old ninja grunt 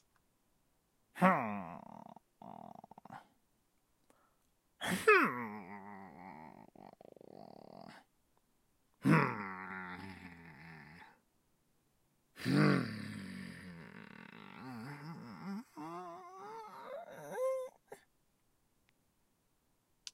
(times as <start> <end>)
1.2 3.3, 4.8 8.0, 9.0 11.2, 12.4 18.0